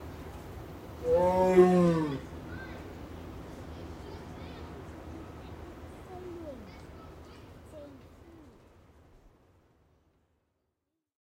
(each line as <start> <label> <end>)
1.0 tiger roars once 2.3